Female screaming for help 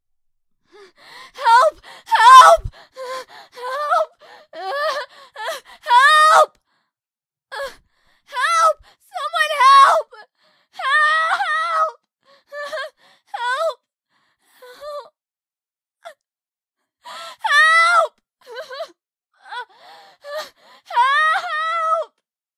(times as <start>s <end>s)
1.4s 2.6s